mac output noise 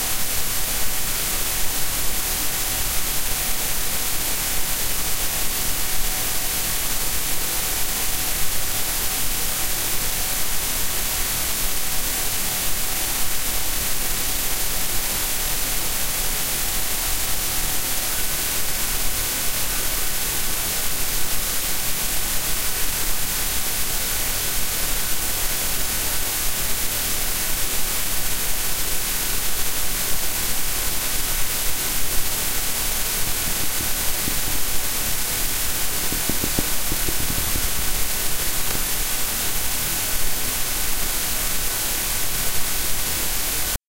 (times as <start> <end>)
30.1 41.2